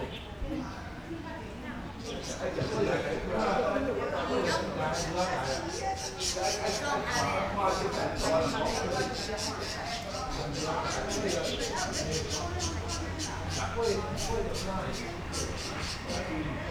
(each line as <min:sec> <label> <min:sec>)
0:00.0 older people in the chat 0:16.7
0:04.5 Birds singing 0:16.6
0:10.8 Traffic Sound 0:16.7